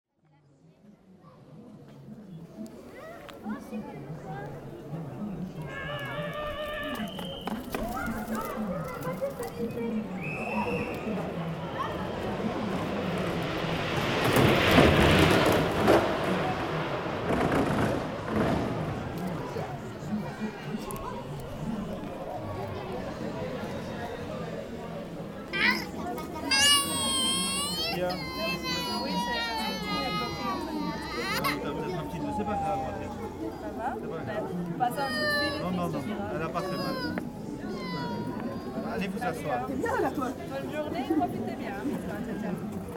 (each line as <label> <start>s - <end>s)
Soapbox race 6.8s - 10.8s
little girl is crying 26.5s - 31.9s
little girl is crying 35.0s - 35.7s
little girl is crying 36.5s - 38.9s